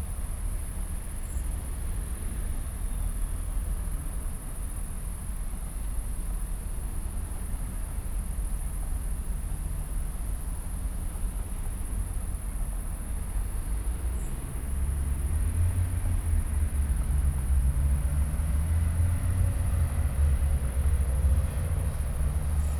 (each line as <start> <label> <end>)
0.0 light breeze in poplar trees 22.7
0.1 crickets 22.7
13.7 distant traffic hum 22.7